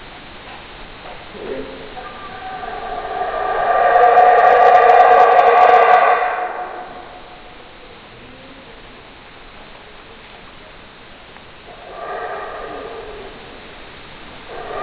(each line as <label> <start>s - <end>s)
Howler monkey 1.3s - 8.8s
Howler monkey 11.7s - 13.7s
Howler monkey 14.5s - 14.8s